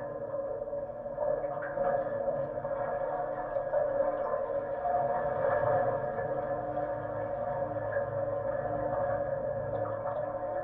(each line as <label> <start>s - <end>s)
wastewater flow in tube 0.0s - 10.6s